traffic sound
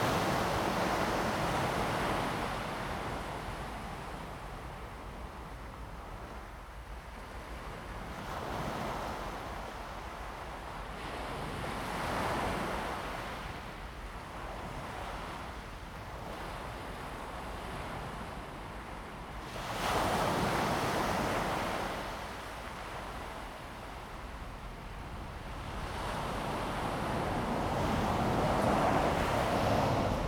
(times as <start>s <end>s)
25.6s 30.2s